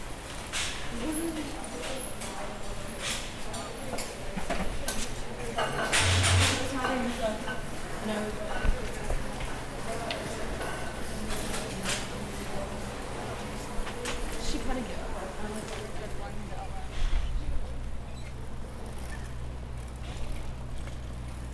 bikes 0.0 - 21.5
people conversing throughout the tunnel 0.1 - 21.3
students walking or on skateboards 8.6 - 21.5

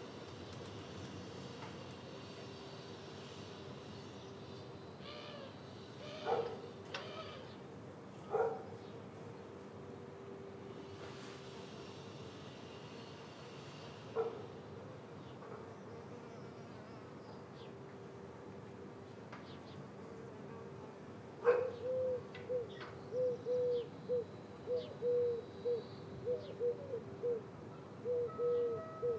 semi distant bell tower 27.7 - 29.1

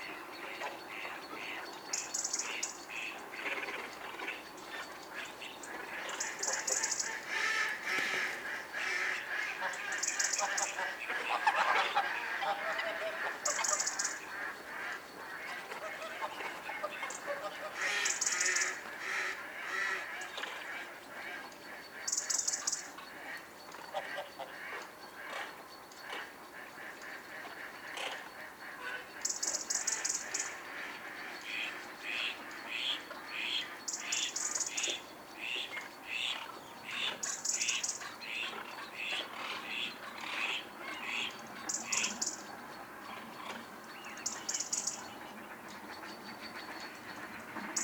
Gooses 0.0 - 47.8
ducks 0.0 - 47.8

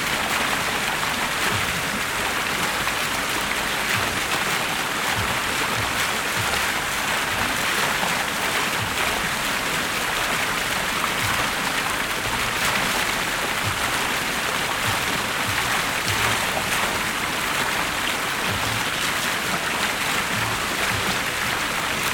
water in the fountain 0.0 - 22.1

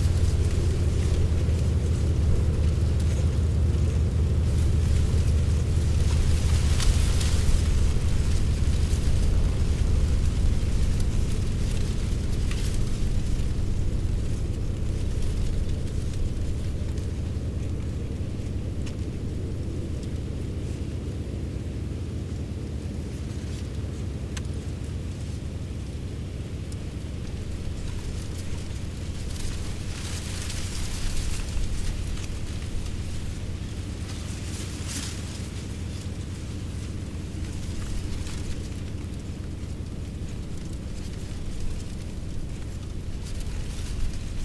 dry leaves rustling in the wind 0.0 - 44.4

